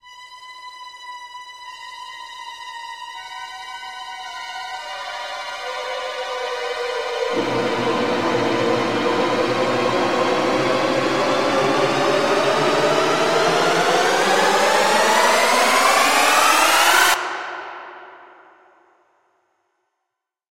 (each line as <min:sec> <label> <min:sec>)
0:07.2 tremolo string 0:18.5